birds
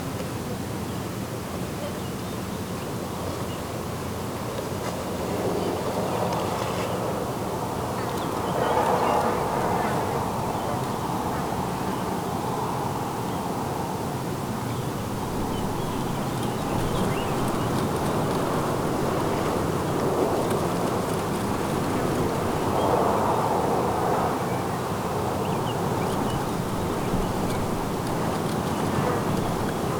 7.8 29.9

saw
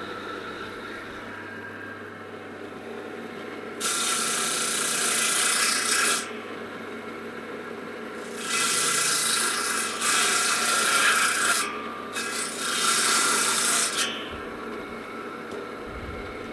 3.8 7.1, 7.7 16.5

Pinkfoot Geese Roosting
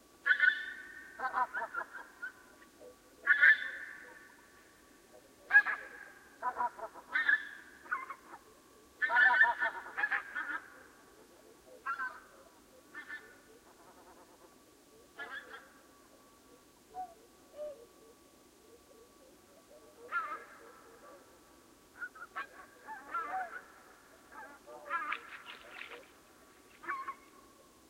24.3 27.4

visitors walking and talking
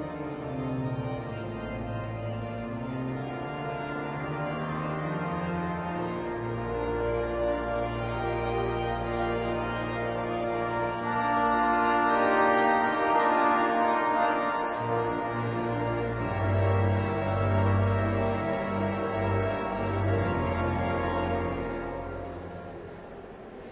14.6 23.7

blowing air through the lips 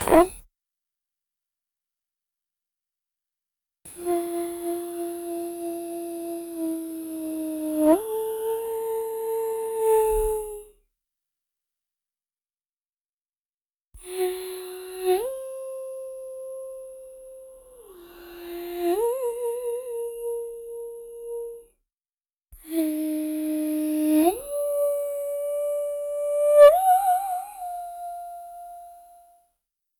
0.0 0.4

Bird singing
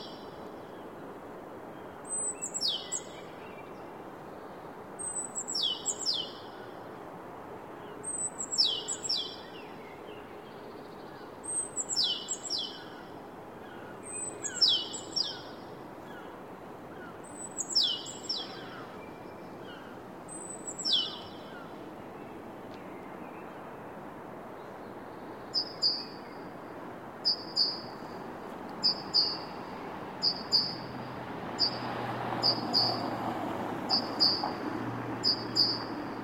1.7 6.8, 7.8 23.8, 24.6 26.5, 27.2 28.1, 28.8 29.6, 30.2 30.9, 31.6 33.1, 33.9 34.6, 35.2 35.9

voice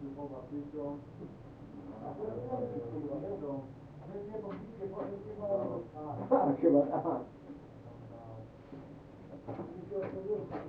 0.0 1.0, 1.9 7.3, 9.5 10.6

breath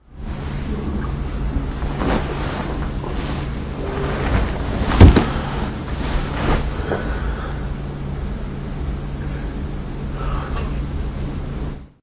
6.8 7.8, 9.2 10.7

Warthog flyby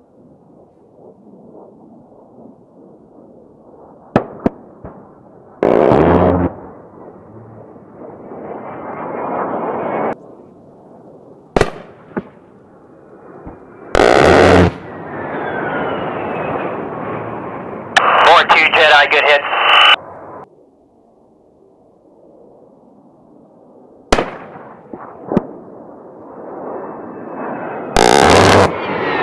0.5 10.2, 24.9 29.2

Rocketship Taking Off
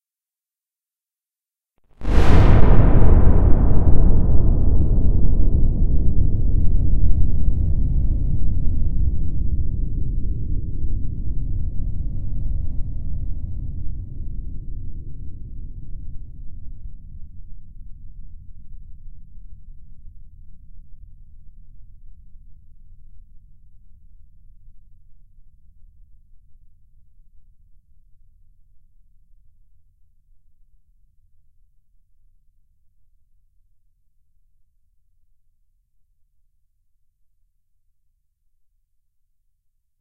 2.0 6.1

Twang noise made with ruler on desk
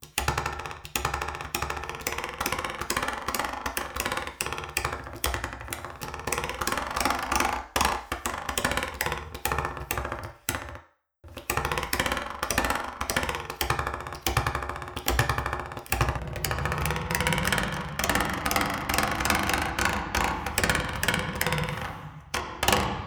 16.0 23.0

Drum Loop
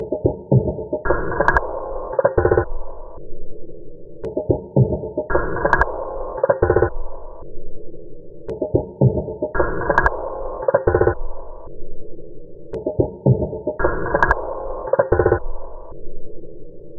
0.0 3.2, 4.2 7.4, 8.5 11.6, 12.8 15.9

